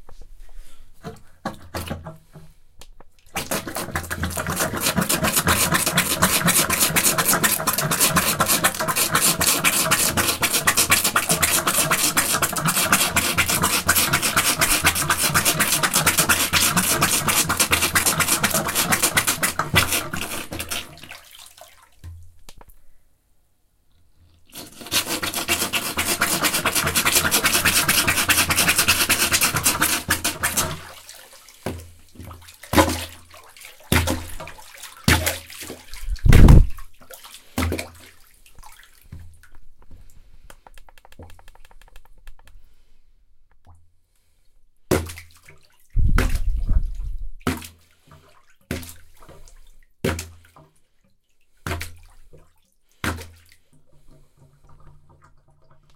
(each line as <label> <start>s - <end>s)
plunger in a sink with water 1.0s - 22.4s
plunger in a sink with water 24.3s - 42.4s
plunger in a sink with water 44.9s - 55.9s